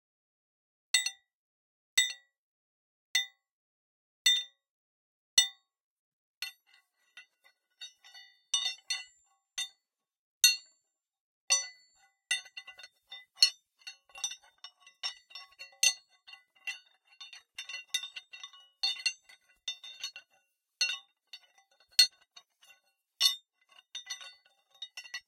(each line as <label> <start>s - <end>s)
Scrapping and grinding an old chisel & drill 12.3s - 25.2s